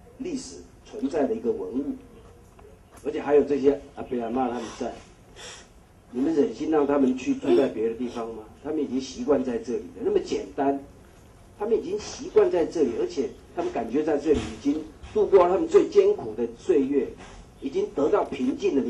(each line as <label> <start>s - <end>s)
Press conference 0.0s - 18.8s